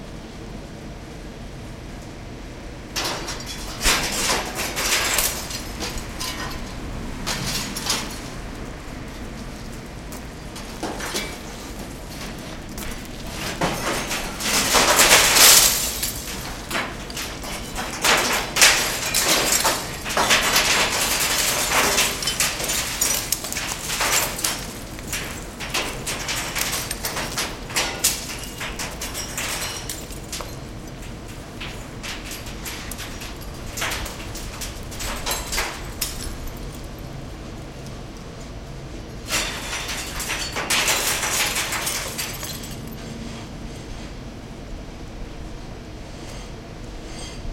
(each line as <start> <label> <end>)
3.0 glass debris falling though chute into dumpster 8.4
10.4 glass debris falling though chute into dumpster 37.0
39.3 glass debris falling though chute into dumpster 43.0